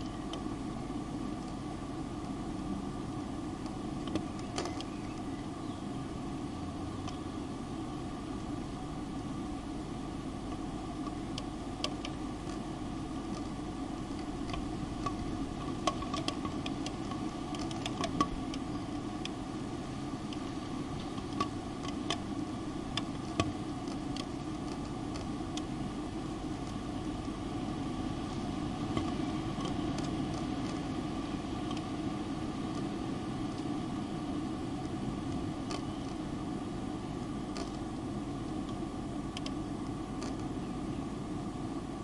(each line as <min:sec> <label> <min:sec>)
0:00.0 birds in the distance 0:01.2
0:00.0 ventilation fan shutters clicking in the breeze 0:42.0
0:00.0 wind in the tube-shaped fan chamber 0:42.0
0:04.1 birds in the distance 0:07.8